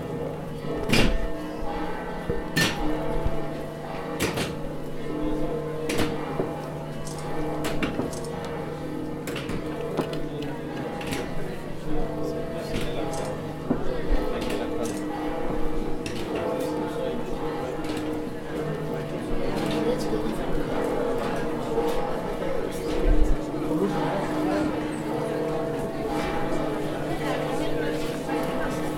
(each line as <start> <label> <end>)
0.0 bells toll from various churches 28.9
0.0 crowd of around 100 people 28.9